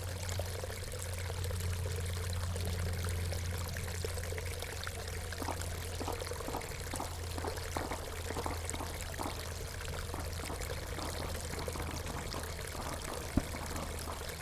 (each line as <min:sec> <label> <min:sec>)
0:00.0 small stream of water flowing into pond 0:14.4
0:05.4 aircraft crossing 0:14.4